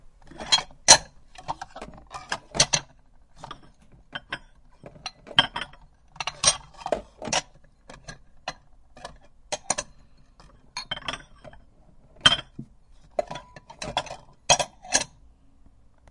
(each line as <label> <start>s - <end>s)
plates 0.2s - 15.2s